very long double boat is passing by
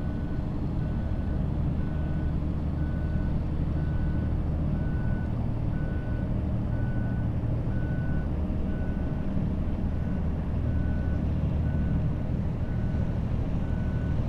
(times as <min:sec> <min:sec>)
0:08.3 0:14.2